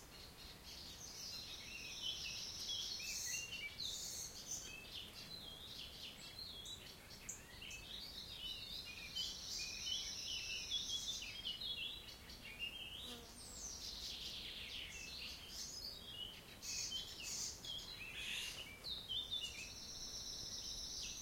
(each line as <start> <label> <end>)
0.0 birds singing 21.2